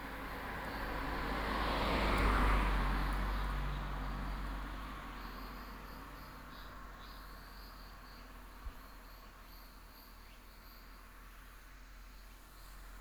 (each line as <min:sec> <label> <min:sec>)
0:00.0 traffic sound 0:08.6
0:00.0 wind 0:13.0